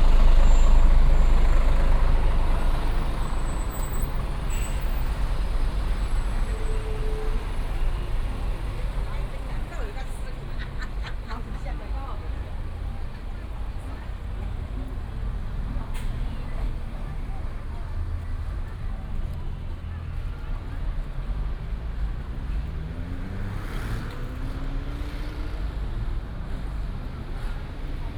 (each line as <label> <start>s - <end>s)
truck is reversing ready to turn 0.0s - 10.2s